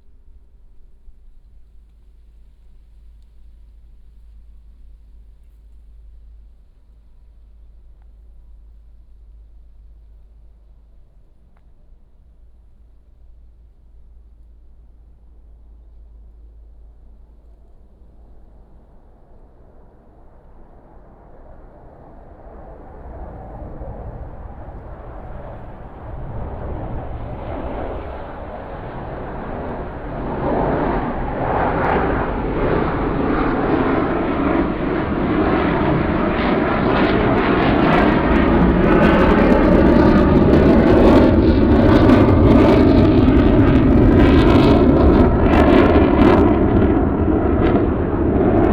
14.3s Fighter flight 48.7s

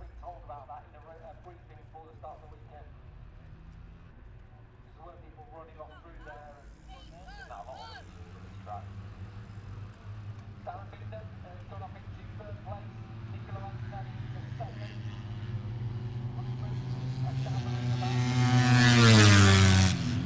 0.0s british motorcycle grand prix 20.2s

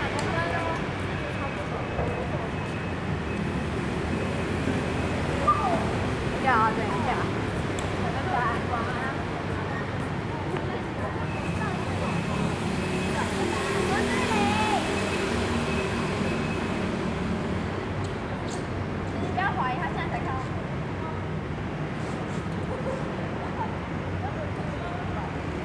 0.0s Traffic Sound 25.6s

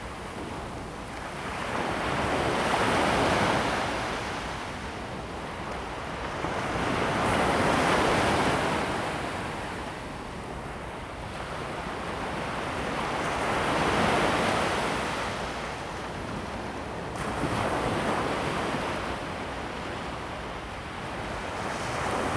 11.4s waves 22.3s

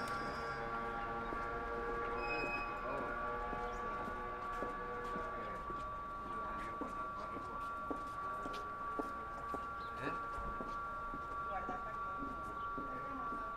0.0s metro en superficie 13.5s

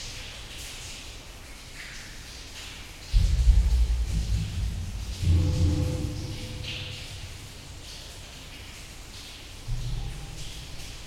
0.0s underground river 11.0s

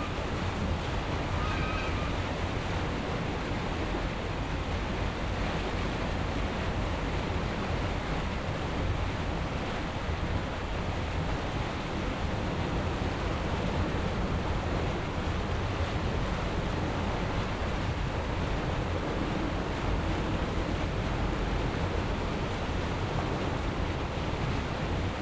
0.0s Boat passing through the canal lock 25.2s
1.2s geese protesting loudly 2.2s

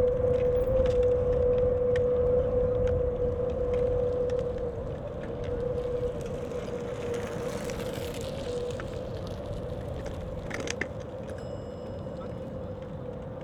0.0s wind sings in the metal fence 6.2s
0.0s people passing by 13.4s

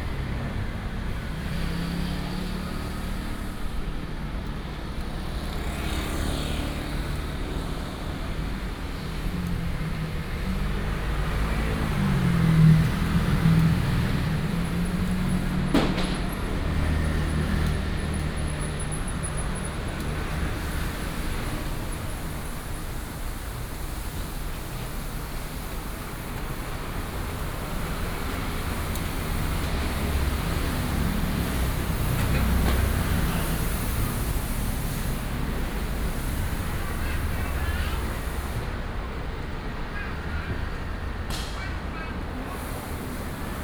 0.0s Traffic Sound 43.6s

